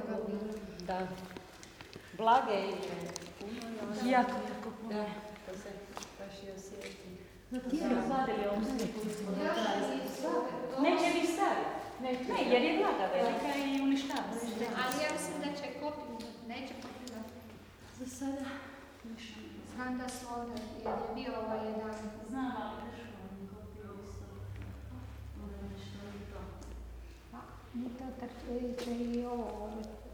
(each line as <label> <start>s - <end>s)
walking towards and entering a small church 0.0s - 7.5s
commentaries of 2 women 2.1s - 30.1s
walking towards and entering a small church 24.0s - 30.1s